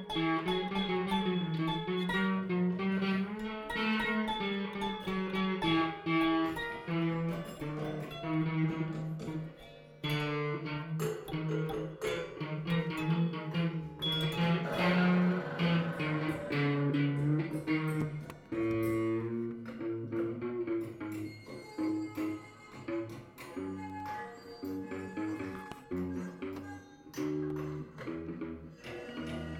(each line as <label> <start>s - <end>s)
people (and also me) playing with strange instruments 0.0s - 29.5s